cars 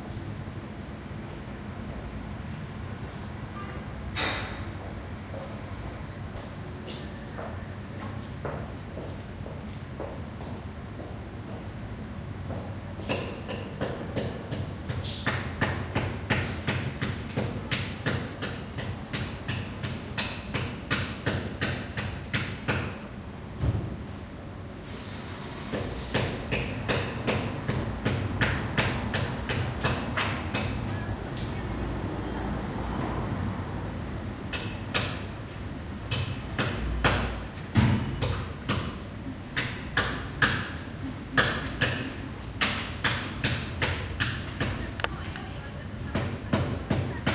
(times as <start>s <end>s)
24.9s 38.2s